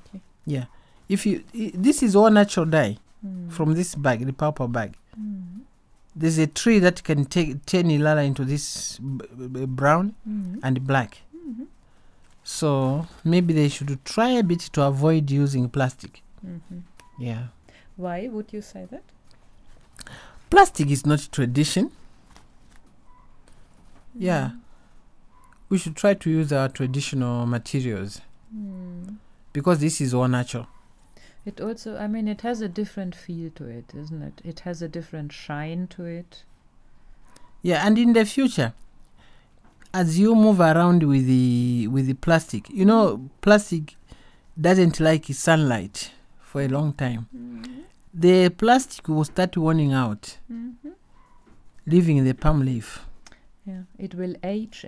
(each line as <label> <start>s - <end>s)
Talking 0.0s - 11.8s
Talking 12.5s - 19.0s
Talking 20.5s - 22.0s
Talking 25.6s - 30.7s
Talking 44.6s - 51.0s